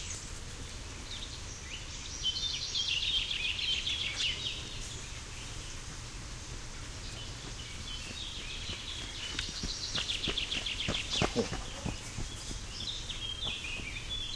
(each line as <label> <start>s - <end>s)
birds 0.0s - 14.3s
running man 5.9s - 14.3s